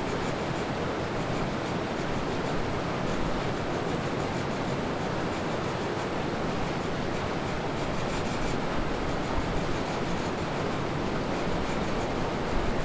0.1s turbine at hydro power plant 12.8s

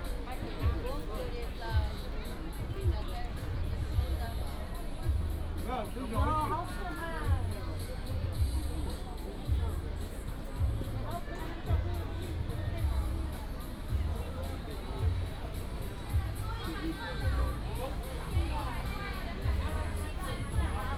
0.0s Walking around the school 20.9s

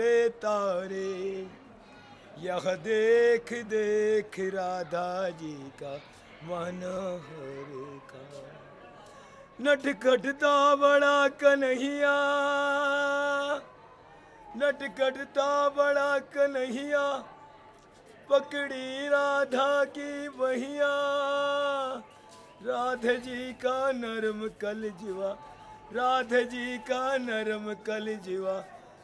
0.0s chant à la gloire des divinités hindous 29.0s

